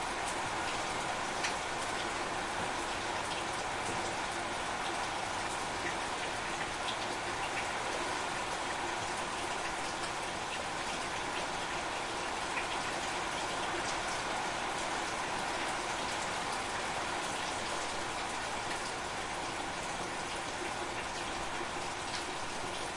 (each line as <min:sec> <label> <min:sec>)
0:00.0 Heavy rain on roofs 0:22.9